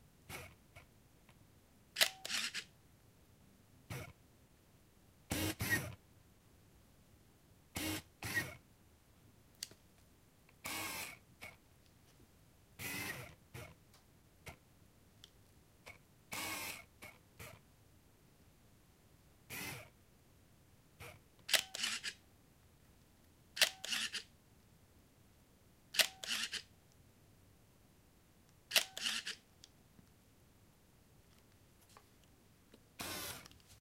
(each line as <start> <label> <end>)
2.0 shutter release 2.7
21.5 shutter release 22.2
23.6 shutter release 24.3
26.0 shutter release 26.7
28.7 shutter release 29.4
33.0 shutter release 33.5